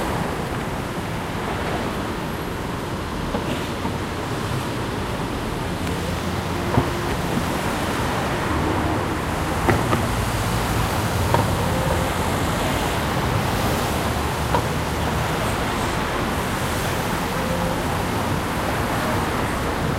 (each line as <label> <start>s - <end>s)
traffic 0.0s - 19.9s